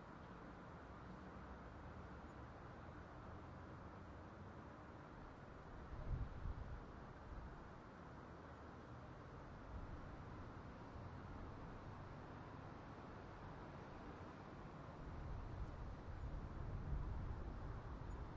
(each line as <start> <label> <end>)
0.1 traffic at street crossing 18.3
5.4 little Wind noise 7.8